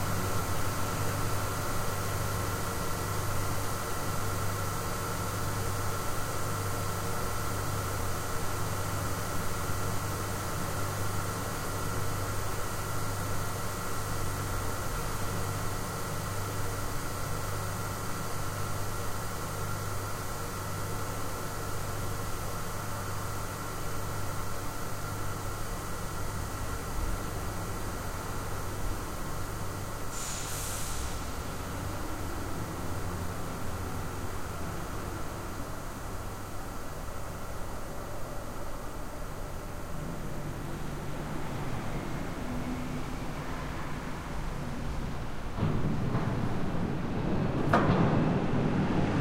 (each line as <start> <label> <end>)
0.0 engine room ambiance 49.2
25.4 drone of the ship's engine 49.2